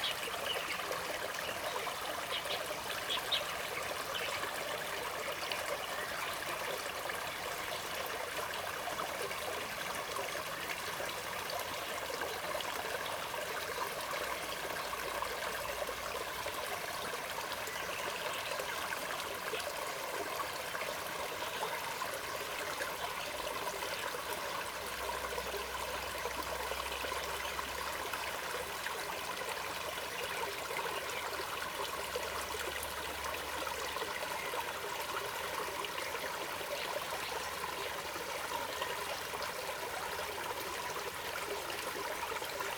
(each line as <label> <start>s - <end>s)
small Stream 0.0s - 42.7s